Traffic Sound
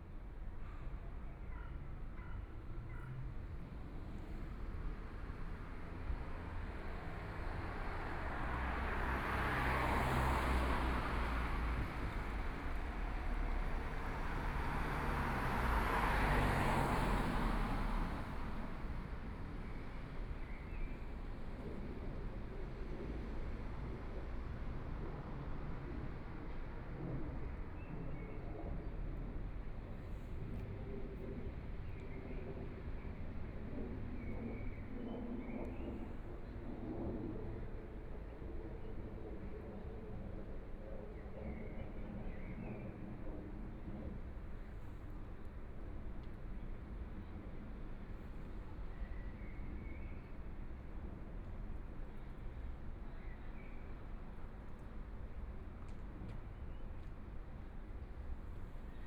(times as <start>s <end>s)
7.0s 19.3s